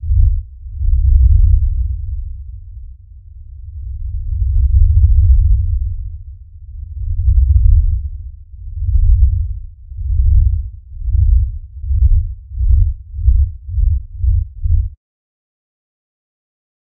rumble 0.0 - 15.0

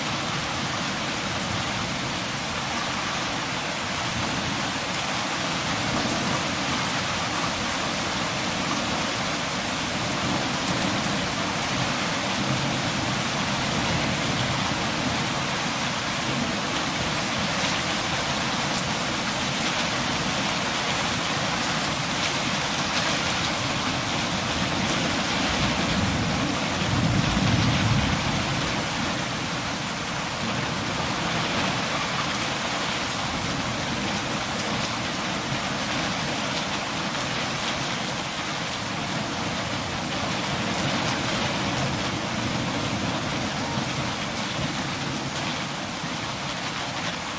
hailstorm 0.0 - 47.3
powerful rain 0.0 - 47.3

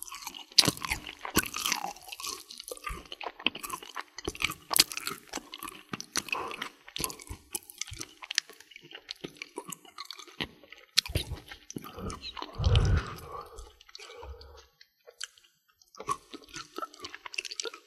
Candy Bar Mastication 0.0 - 17.8
swallow 11.0 - 14.8

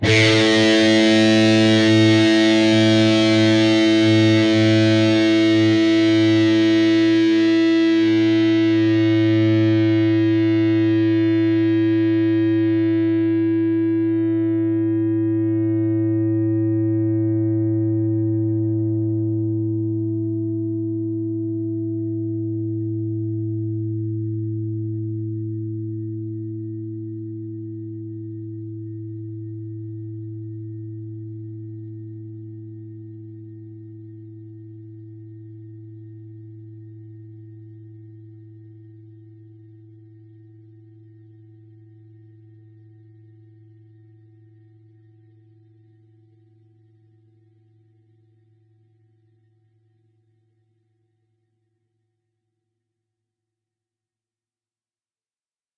distorted guitar 0.0 - 40.1

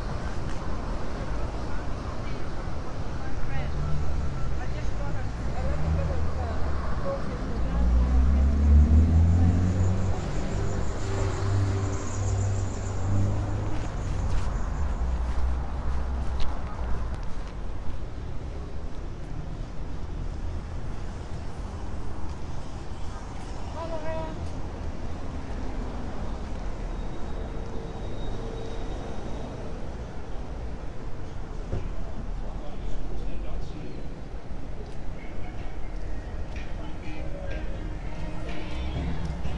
traffic 0.0 - 39.5

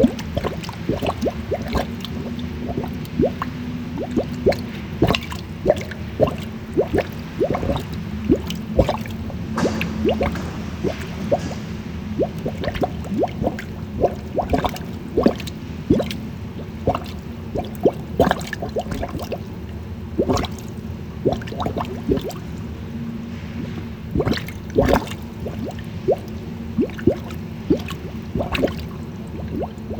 water and sewage bubbling 0.0 - 29.9

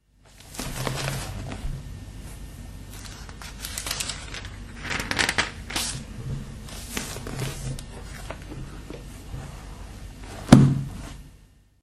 turning pages 0.3 - 1.7
turning pages 2.9 - 9.0

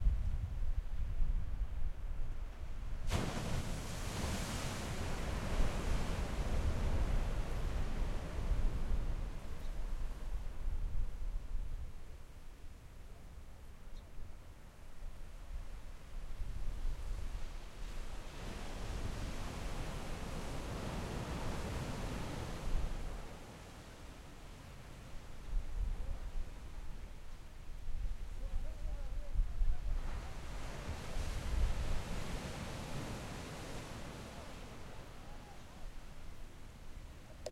Ocean Waves 3.1 - 10.3
Ocean Waves 17.0 - 25.6
Ocean Waves 29.9 - 37.5

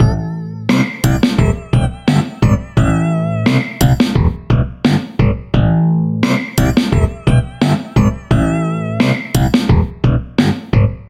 bass 0.0 - 11.0
drums 0.0 - 11.0

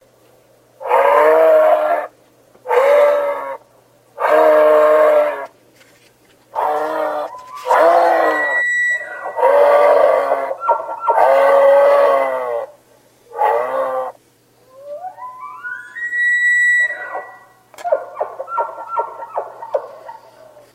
Moose 0.8 - 3.6
Moose 4.2 - 5.5
Elk 6.5 - 20.7
Moose 6.5 - 20.7

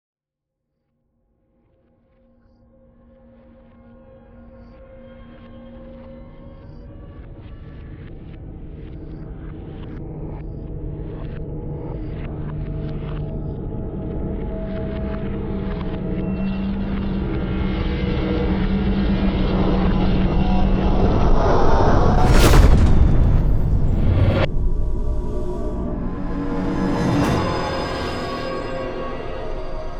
riser 20.4 - 29.9
whoosh 20.7 - 29.9
explosion 21.3 - 29.9
implosion 21.3 - 29.9
boom 21.9 - 28.7

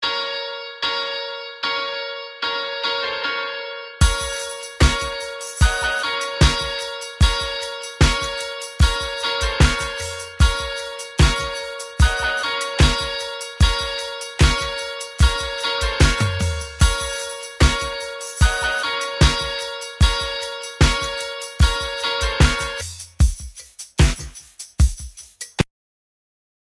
music 0.0 - 25.7

